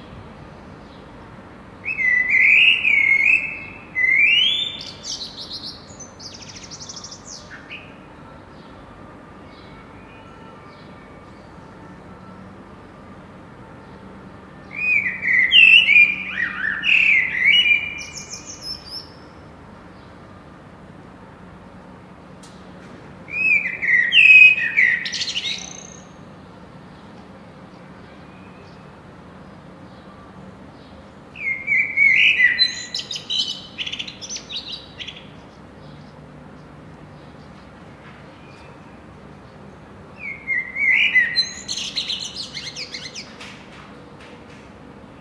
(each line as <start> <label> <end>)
0.0 city noise in background 45.2